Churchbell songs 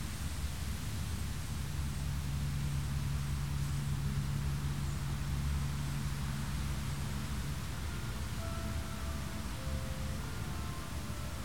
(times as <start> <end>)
7.3 11.4